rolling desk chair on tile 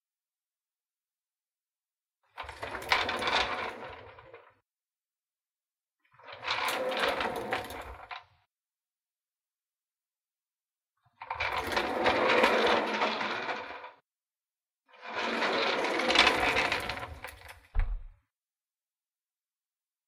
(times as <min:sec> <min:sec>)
0:02.4 0:04.6, 0:06.1 0:08.3, 0:11.2 0:14.0, 0:14.9 0:17.7